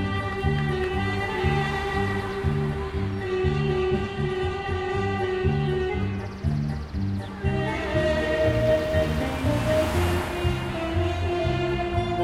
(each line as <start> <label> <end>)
0.0 Traffic 12.2
1.0 people talking 3.9